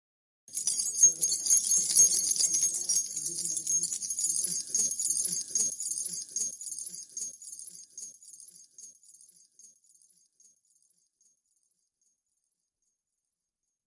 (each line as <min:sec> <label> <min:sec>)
0:00.5 key ring 0:07.9
0:00.8 voices in the background 0:06.5